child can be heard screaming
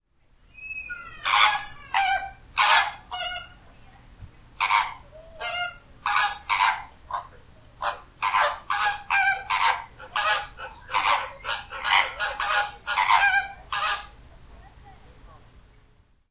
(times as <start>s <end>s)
0.5s 2.4s